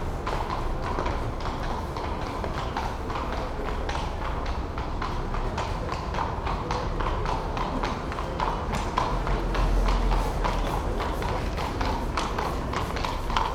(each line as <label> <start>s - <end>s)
Policemen on horseback pass by 0.0s - 13.5s